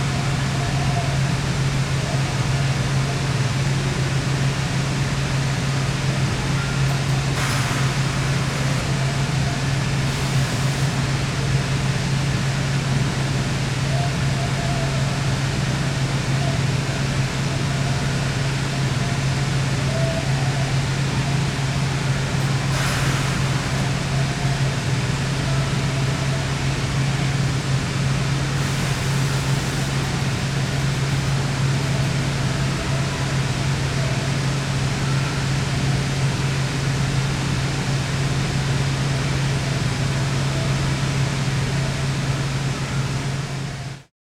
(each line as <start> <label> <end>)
28.6 Radio in the background 33.3